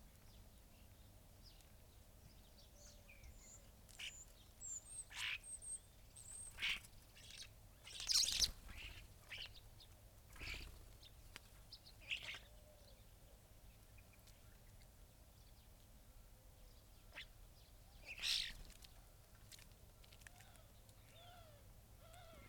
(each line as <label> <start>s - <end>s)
background noise 0.0s - 22.4s
blackbird 0.2s - 14.8s
starlings on bird feeders 0.3s - 13.1s
greenfinch 2.8s - 9.7s
greenfinch 10.3s - 12.5s
collared dove 10.3s - 13.0s
blackbird 16.6s - 19.1s
greenfinch 18.0s - 18.9s